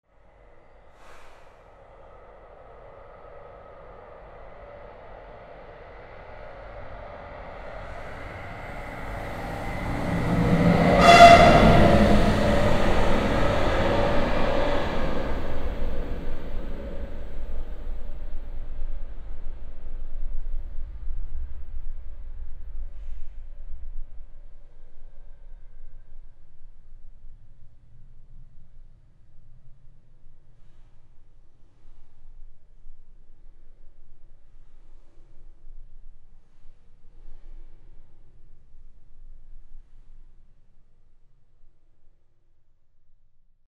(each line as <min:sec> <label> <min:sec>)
0:05.8 regional train passing by hooting 0:18.8